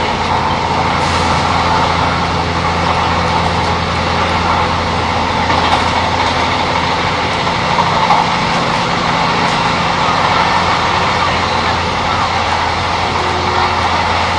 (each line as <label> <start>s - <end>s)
Train 0.0s - 14.3s